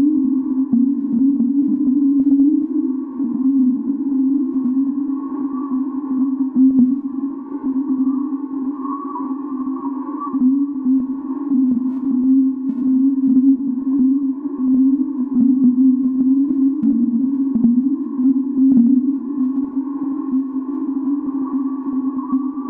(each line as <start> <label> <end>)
0.0 drone 22.6